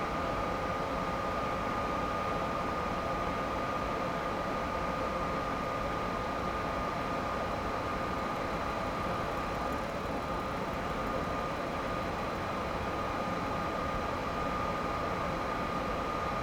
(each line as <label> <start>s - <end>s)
regional train arrives and departs 7.8s - 13.8s